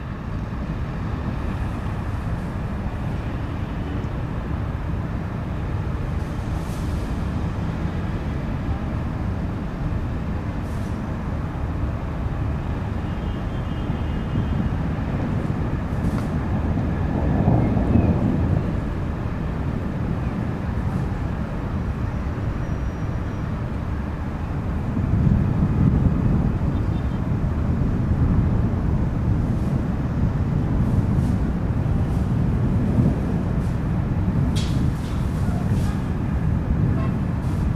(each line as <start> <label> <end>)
0.0 thunders gaining force while approaching the city 37.7